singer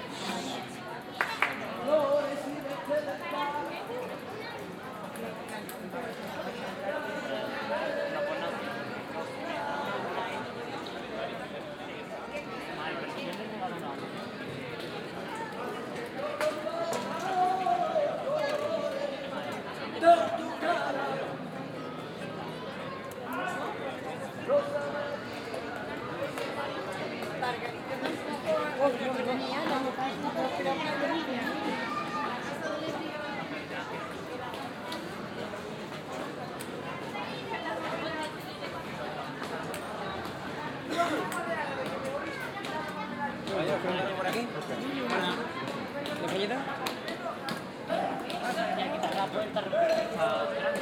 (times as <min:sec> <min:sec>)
0:16.4 0:21.3